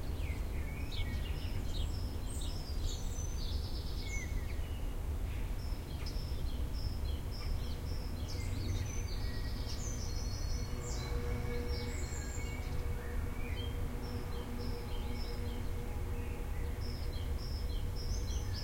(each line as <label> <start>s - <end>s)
blackbirds 0.0s - 18.6s
sparrows 0.0s - 18.6s
northern wren 7.4s - 18.6s